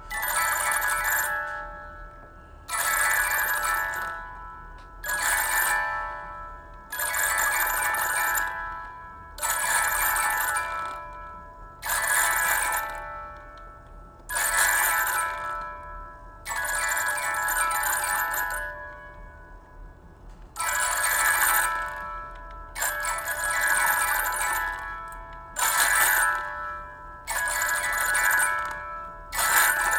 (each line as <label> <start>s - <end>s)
music box notes 22.7s - 29.9s